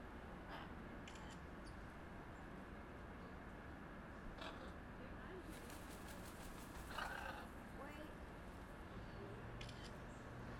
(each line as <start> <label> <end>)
4.4 Blue-and-yellow macaws 4.8
6.8 Blue-and-yellow macaws 7.5